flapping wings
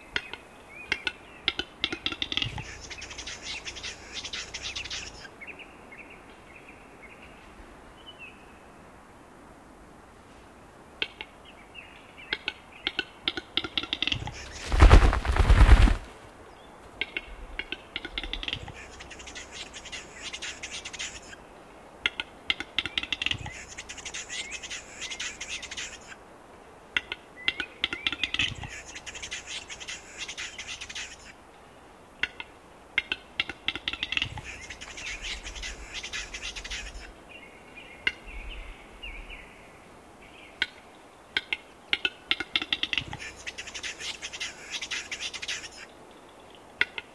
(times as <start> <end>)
14.1 16.3